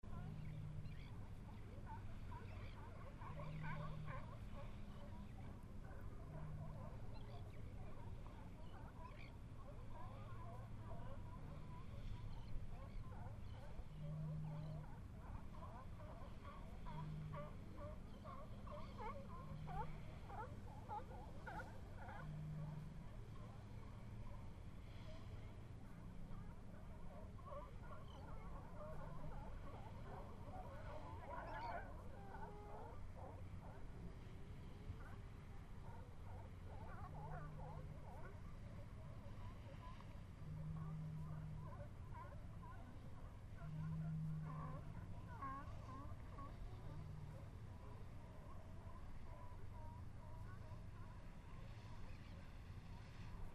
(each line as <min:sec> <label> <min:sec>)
0:00.0 California sea lions in a distance 0:53.5
0:00.0 boats entering mouth of Bodega Bay 0:53.5